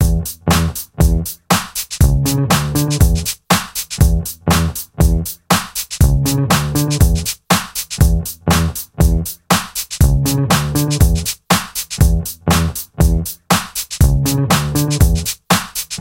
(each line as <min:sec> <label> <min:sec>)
0:00.0 bass 0:01.4
0:00.0 drums 0:16.0
0:02.0 bass 0:03.3
0:04.0 bass 0:05.4
0:06.0 bass 0:07.3
0:08.0 bass 0:09.4
0:10.0 bass 0:11.3
0:12.0 bass 0:13.4
0:14.0 bass 0:15.3